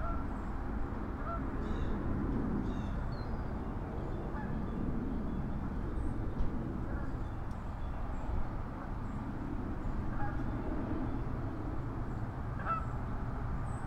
geese 1.2 - 1.4
geese 10.1 - 10.4
geese 12.6 - 12.9

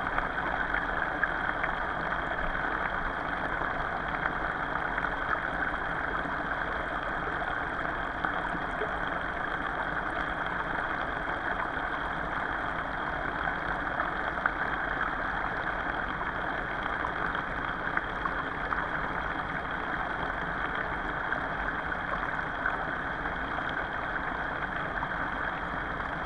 underwater pipe 0.1 - 26.2

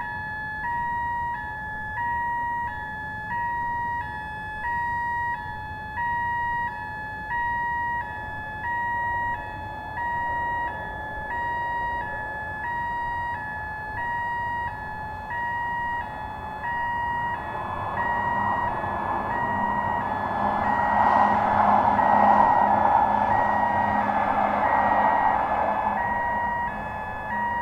alarm constantly bleeping 0.0 - 27.6

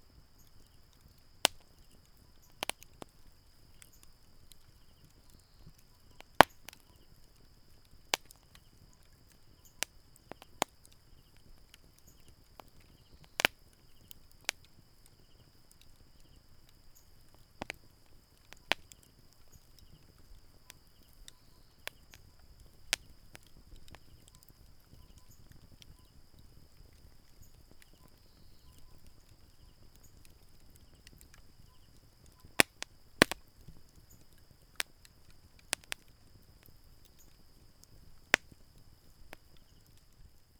Insect noise 0.0 - 40.5
fire 0.0 - 40.5
Bird song 27.4 - 29.0

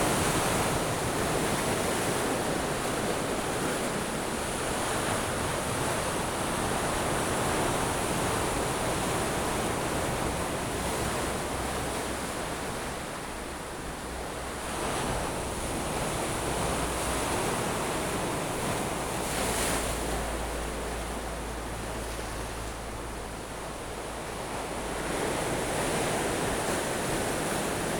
waves 0.0 - 27.9

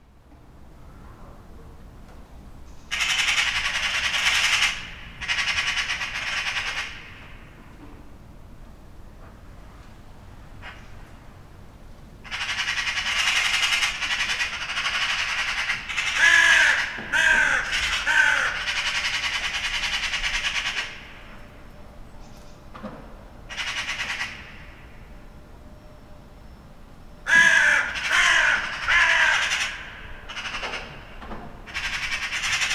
magpies 2.9 - 7.2
magpies 12.2 - 21.6
dun crows get excited about something 12.3 - 20.8
magpies 23.5 - 24.8
magpies 27.3 - 32.7
dun crows get excited about something 27.3 - 30.6

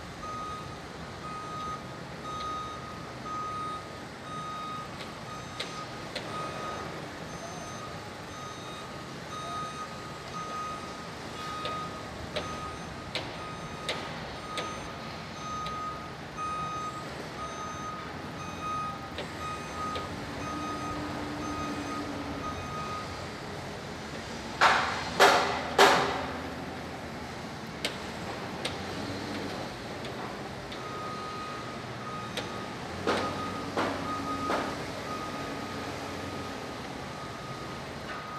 beeps 1.3 - 23.1
hammering 24.6 - 26.4

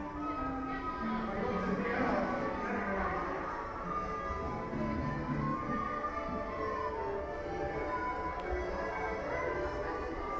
tuning folk instruments 0.0 - 10.3

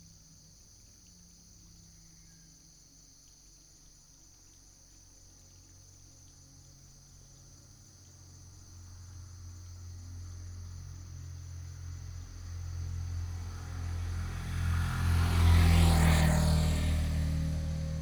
Cicadas call 0.0 - 18.0
motorcycle 8.1 - 18.0

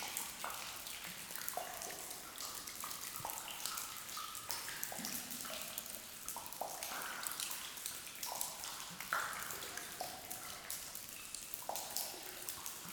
Soft rain 0.0 - 12.9

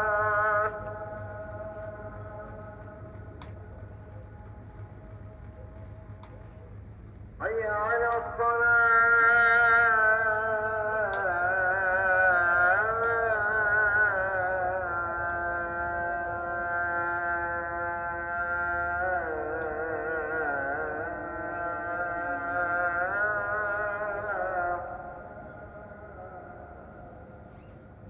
Muezzin call to prayer 0.0 - 6.8
Muezzin call to prayer 7.4 - 27.4

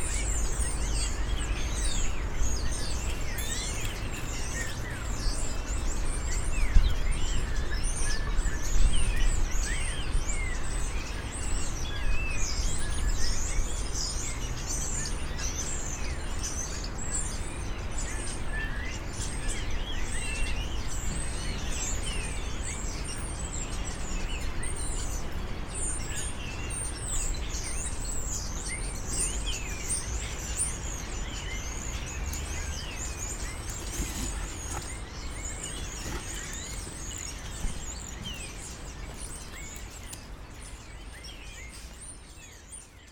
Birds 0.0 - 43.1

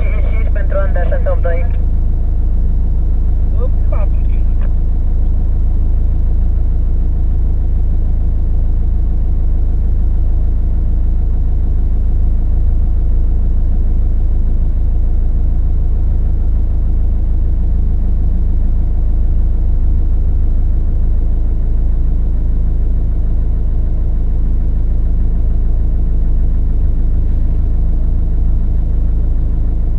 driving in cab 0.0 - 29.9

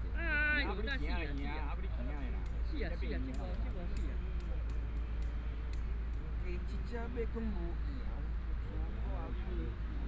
Dialogue among the elderly 0.2 - 9.8

